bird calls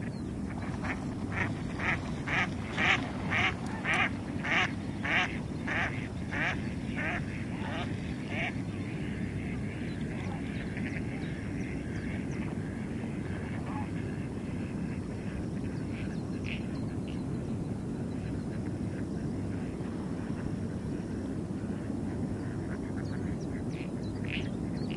0.0s 12.7s

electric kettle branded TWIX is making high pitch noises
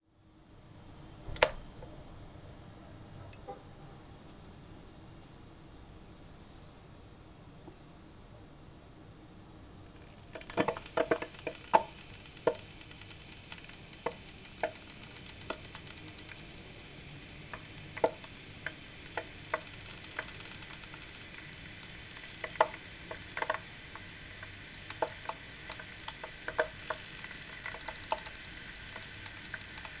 9.8s 30.0s

